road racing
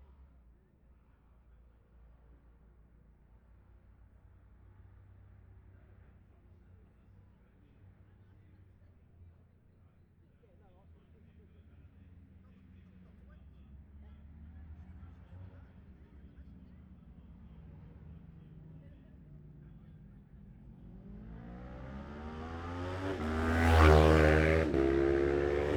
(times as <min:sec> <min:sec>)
0:10.8 0:25.7